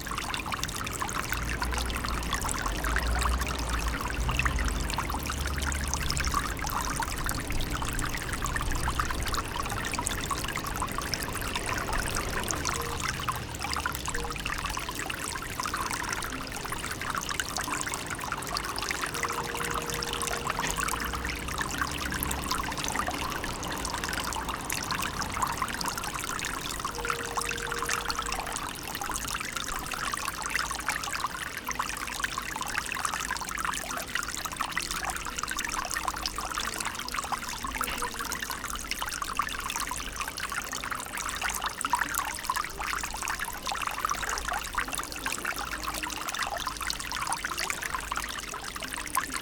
6.0s Fontanna 31.2s

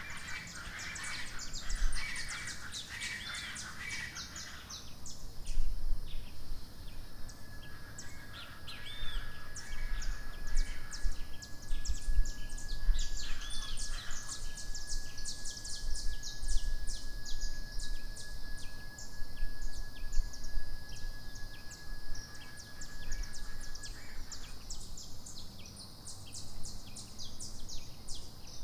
0.0s Birds 28.6s

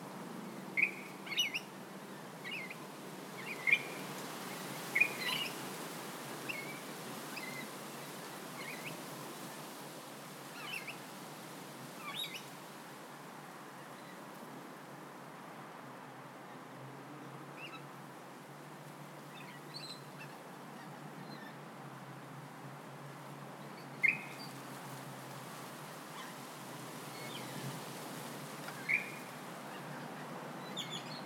0.0s Rainbow Lorikeets 9.8s
0.7s Other Birds 5.7s
10.4s Rainbow Lorikeets 11.2s
11.9s Rainbow Lorikeets 12.6s
19.2s Rainbow Lorikeets 21.6s
23.6s Other Birds 24.8s
23.6s Rainbow Lorikeets 24.8s
25.4s Rainbow Lorikeets 31.2s
28.5s Other Birds 31.2s

